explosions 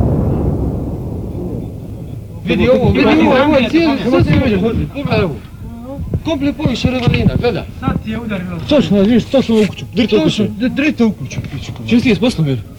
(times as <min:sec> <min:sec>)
0:00.0 0:05.6